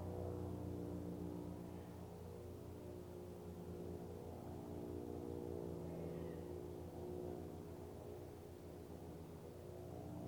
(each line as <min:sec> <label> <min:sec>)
0:00.0 Lawn mowers 0:10.2
0:00.0 My dog settling down in the sun 0:10.2
0:00.0 Planes 0:10.2
0:00.0 automobiles 0:10.2
0:04.4 Birds 0:08.9
0:05.8 Distant shouts from the elementary school playground 0:06.7